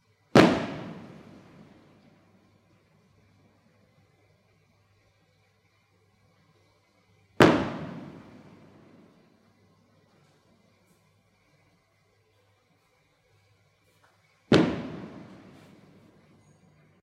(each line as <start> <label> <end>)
0.3 three firework blasts 2.8
7.4 three firework blasts 9.6
14.5 three firework blasts 16.9